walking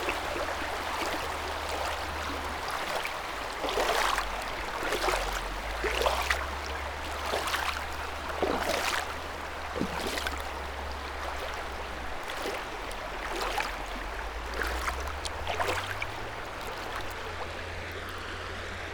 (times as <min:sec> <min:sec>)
0:09.7 0:17.5